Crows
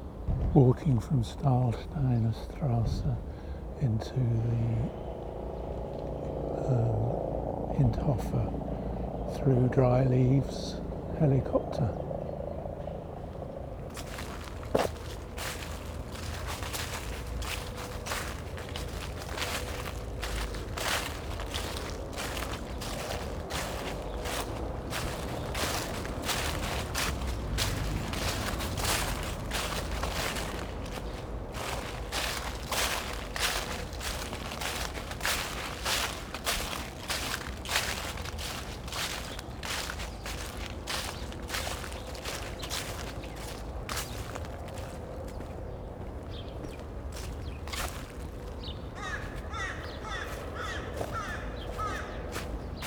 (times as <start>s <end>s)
13.9s 45.0s, 47.2s 52.8s